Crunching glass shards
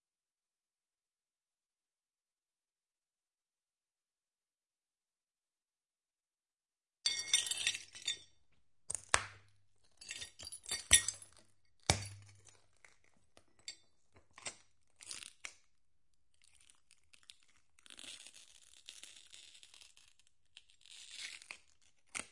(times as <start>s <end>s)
7.1s 8.3s, 10.0s 12.6s